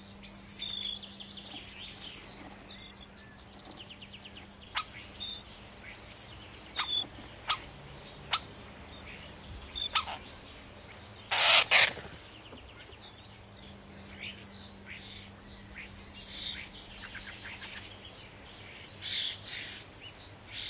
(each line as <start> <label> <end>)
0.0 Starling warning at the nesting box 20.6
0.0 distant traffic 20.6
0.0 other birds 20.6
11.3 wings 12.3